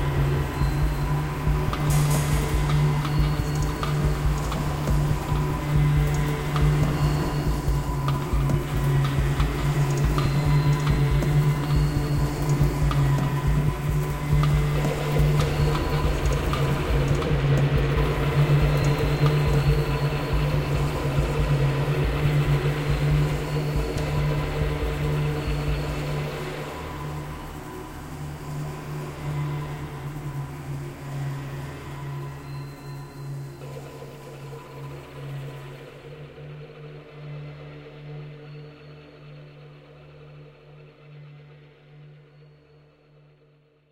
strings 0:00.0 - 0:40.2

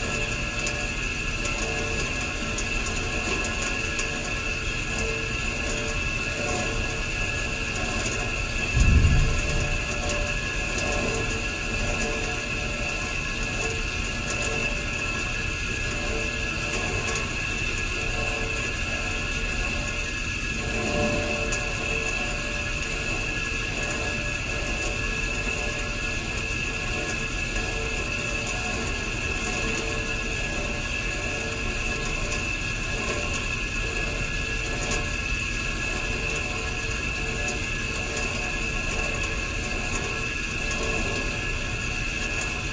uncooperative radiator 0:00.0 - 0:42.7
ambient room noise 0:08.4 - 0:11.8

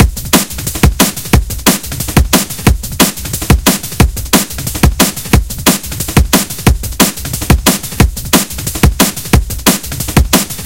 Bass 0:00.0 - 0:10.6
Hi Hats 0:00.0 - 0:10.6
Snare 0:00.0 - 0:10.6
Synthesizer 0:00.0 - 0:10.6

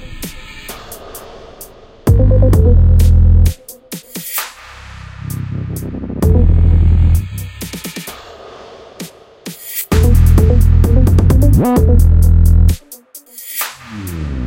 Thick, heavy 808 bass 0:02.1 - 0:03.6
808 kick 0:02.1 - 0:04.2
light synth melody 0:02.1 - 0:02.9
Thick, heavy 808 bass 0:05.1 - 0:07.8
808 kick 0:06.2 - 0:08.0
808 kick 0:09.9 - 0:12.8
Thick, heavy 808 bass 0:09.9 - 0:12.8

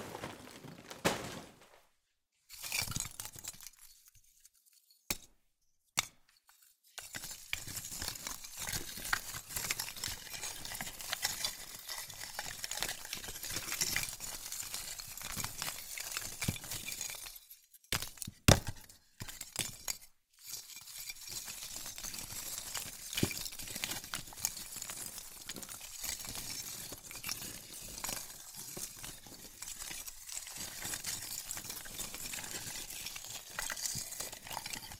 Charcoal placed into a makeshift recording bed/pallet 0:00.0 - 0:01.8

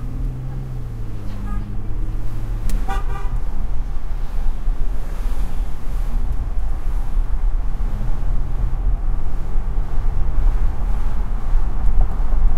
Pickup truck driving with windows down on wet street 0:00.0 - 0:12.5
traffic 0:00.0 - 0:12.5

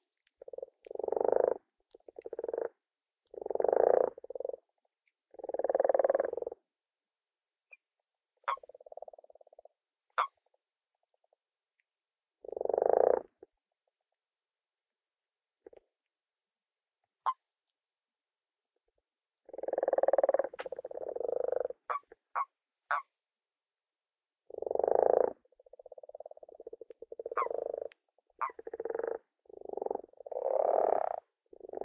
lower pitched croaks 0:00.4 - 0:04.7
higher pitched qwarks are male toads 0:08.4 - 0:09.6
higher pitched qwarks are male toads 0:10.2 - 0:10.4
lower pitched croaks 0:12.4 - 0:13.4
lower pitched croaks 0:19.4 - 0:23.1
higher pitched qwarks are male toads 0:19.5 - 0:23.1
higher pitched qwarks are male toads 0:24.5 - 0:31.8
lower pitched croaks 0:24.5 - 0:31.8

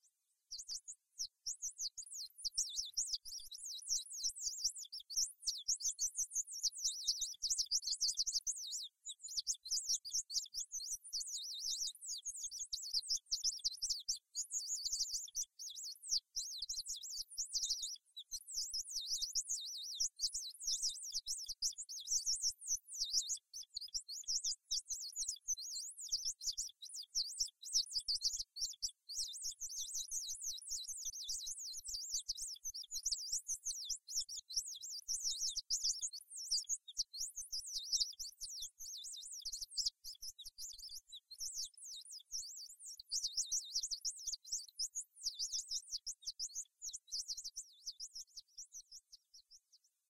Bird Song 0:00.0 - 0:50.0

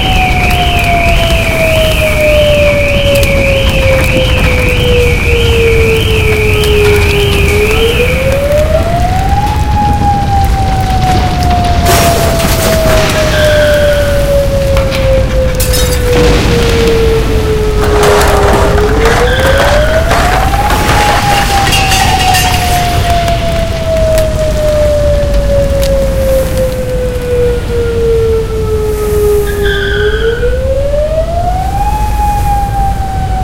vicious earthquake 0:00.0 - 0:26.1
Fire 0:00.0 - 0:33.4

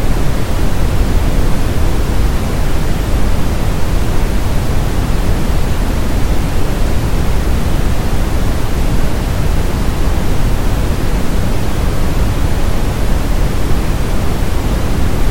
Waterfall 0:00.0 - 0:15.3

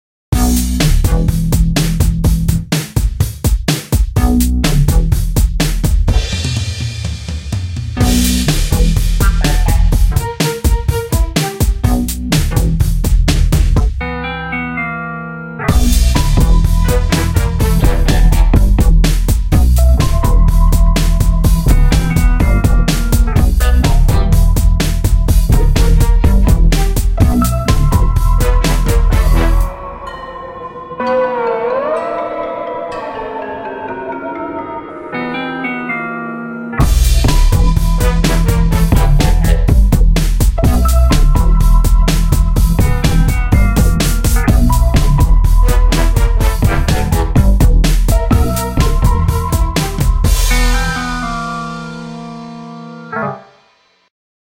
cocky simple bassline 0:00.4 - 0:02.7
beat I made on a drum machine 0:00.4 - 0:14.0
sampled drums 0:00.4 - 0:14.0
cocky simple bassline 0:04.2 - 0:06.5
cocky simple bassline 0:08.0 - 0:29.7
synth sounds 0:09.2 - 0:10.2
Strings 0:14.0 - 0:53.5
synth sounds 0:14.0 - 0:39.9
horns 0:15.6 - 0:32.2
beat I made on a drum machine 0:15.7 - 0:29.7
sampled drums 0:15.7 - 0:30.2
cocky simple bassline 0:35.8 - 0:52.3
horns 0:36.8 - 0:39.8
beat I made on a drum machine 0:36.8 - 0:52.2
sampled drums 0:36.8 - 0:52.4
synth sounds 0:40.6 - 0:53.6
horns 0:45.4 - 0:52.0

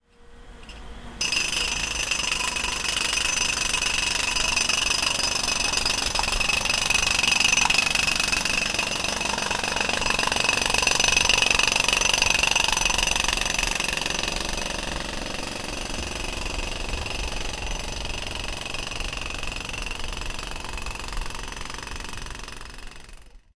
manual jackhammer 0:01.2 - 0:23.5

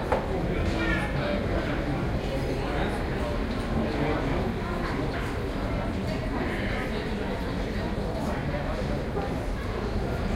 crowd 0:00.0 - 0:10.3

